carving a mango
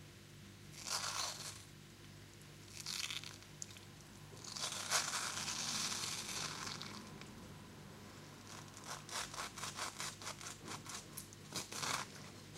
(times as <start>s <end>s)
0.7s 1.7s, 4.4s 7.2s, 8.3s 12.5s